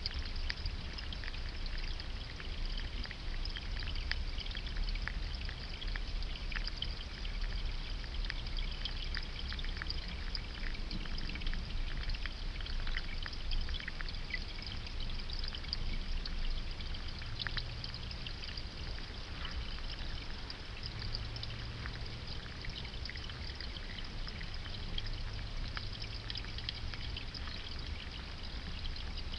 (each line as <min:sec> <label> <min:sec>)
0:00.0 Water 0:29.3
0:00.0 fish 0:29.3